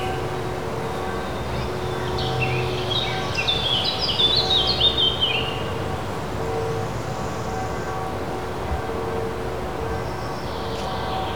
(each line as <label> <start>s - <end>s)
distant church bells 0.0s - 11.3s